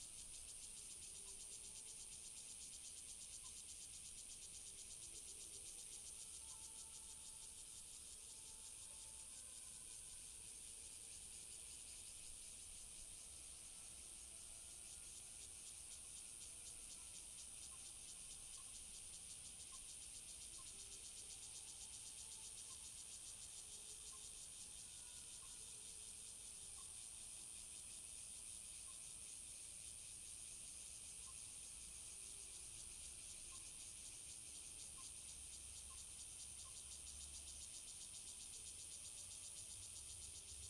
Cicadas sound 0:00.1 - 0:40.6

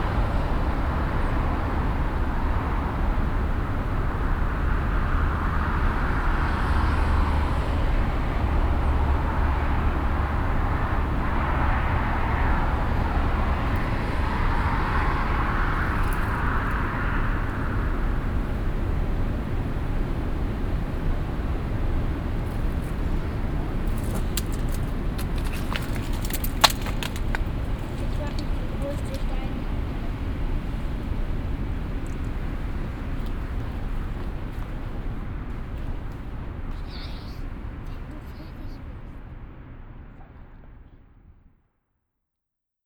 traffic from the nearby main street 0:00.0 - 0:41.3
loose slate stones inside the vineyard 0:22.0 - 0:37.9
voice of a child playing with the stones 0:23.9 - 0:29.6

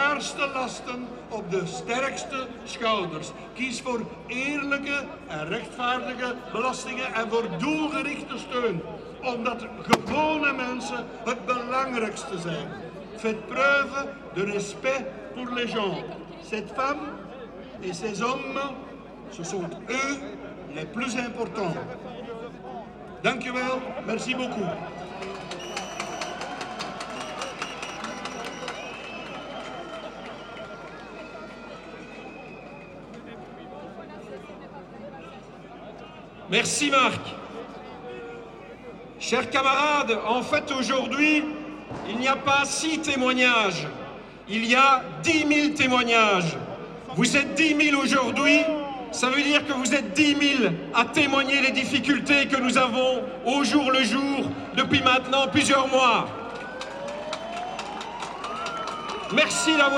Speeches at the trade union demonstration 0:00.0 - 0:59.9

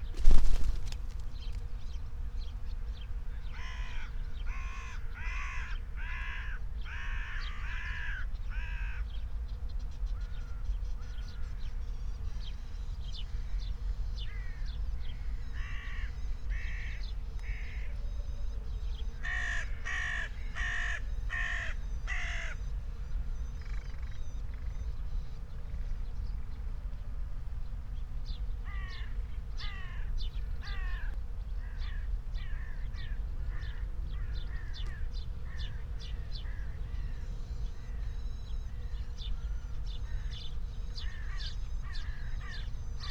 birds 0:00.0 - 0:43.1
aircraft 0:01.6 - 0:21.1
aircraft 0:21.7 - 0:43.1

